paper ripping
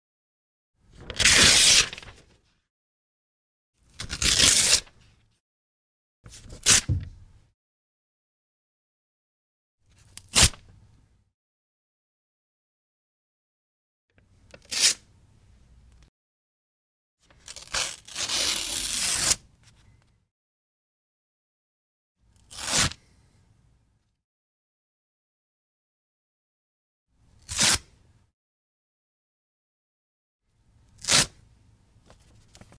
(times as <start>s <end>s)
1.0s 2.4s, 4.0s 5.0s, 17.4s 19.4s